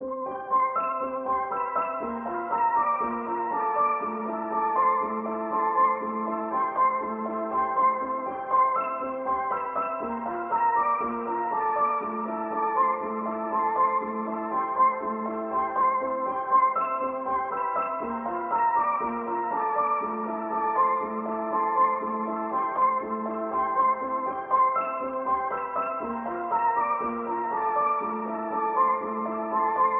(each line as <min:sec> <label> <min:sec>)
0:00.0 piano 0:29.9